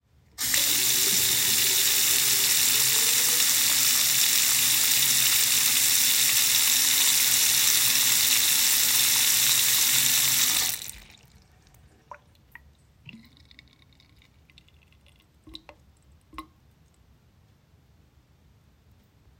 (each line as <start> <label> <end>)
0.4 Sink Faucet Water Run 11.4
0.4 water draining 16.6